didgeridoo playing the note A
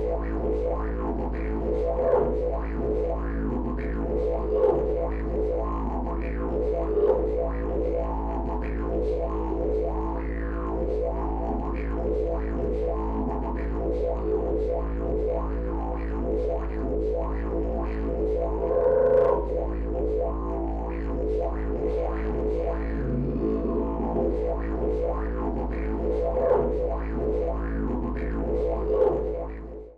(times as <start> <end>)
17.2 29.7